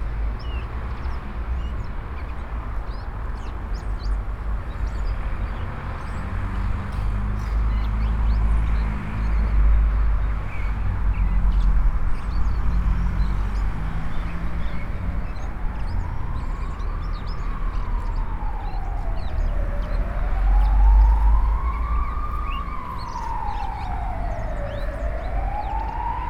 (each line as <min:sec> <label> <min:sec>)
0:00.0 Blackbird 0:26.2
0:07.0 Siren 0:26.2